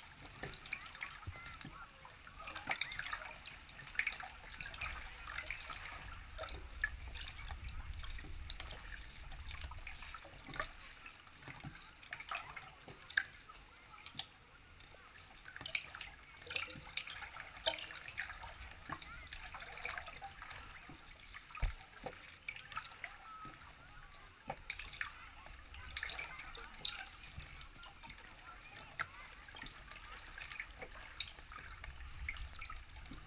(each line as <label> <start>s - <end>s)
abandoned metallic pontoon 0.0s - 33.2s